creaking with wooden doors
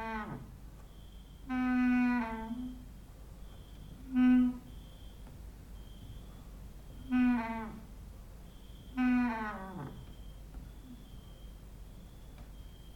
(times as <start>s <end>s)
0.0s 0.6s, 1.5s 2.8s, 6.9s 7.9s, 8.9s 10.3s